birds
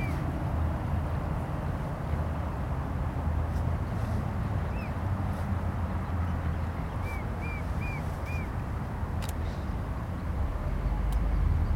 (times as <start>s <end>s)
3.9s 11.7s